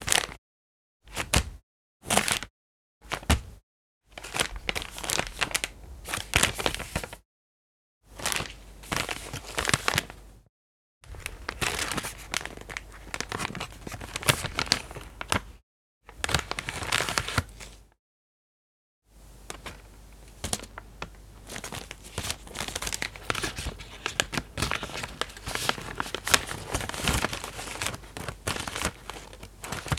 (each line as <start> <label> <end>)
11.1 small plastic bag squeezing, crinkling 15.5
19.5 small plastic bag squeezing, crinkling 29.9